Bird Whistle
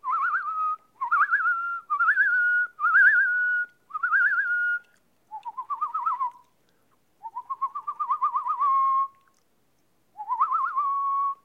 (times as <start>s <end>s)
10.2s 11.4s